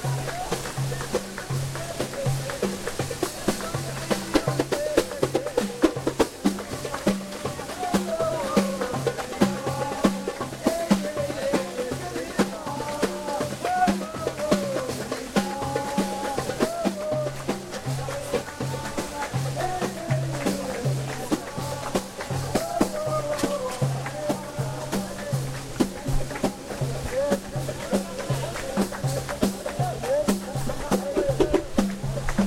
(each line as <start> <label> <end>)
0.0 drums 32.4
0.0 waterfall 32.4